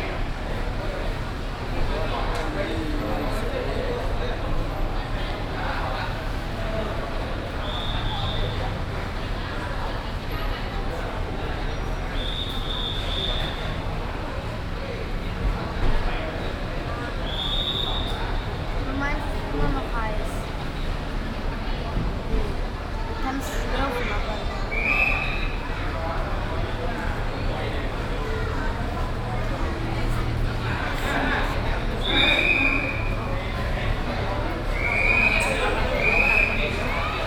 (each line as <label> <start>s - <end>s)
people 0.0s - 37.2s
traffic 0.0s - 37.2s
whistling of the taxi warden 7.4s - 8.8s
whistling of the taxi warden 11.7s - 13.9s
whistling of the taxi warden 17.0s - 18.6s
whistling of the taxi warden 24.3s - 25.9s
whistling of the taxi warden 31.7s - 37.2s